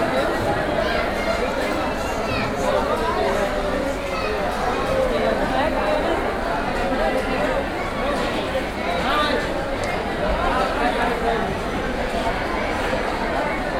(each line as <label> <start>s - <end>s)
Queue in the hall 0.0s - 13.7s
crowd 0.0s - 13.7s